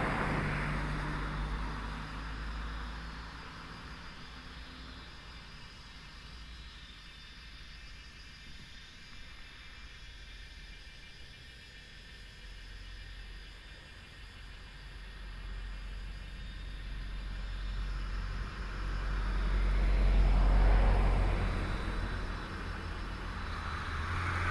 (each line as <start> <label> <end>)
0.0 Traffic Sound 2.7
0.0 Cicadas sound 24.5
16.9 Traffic Sound 24.5